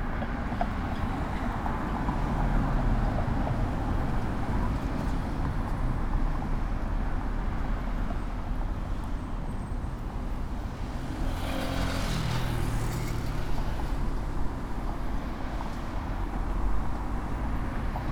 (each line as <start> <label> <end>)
0.0 Traffic 18.1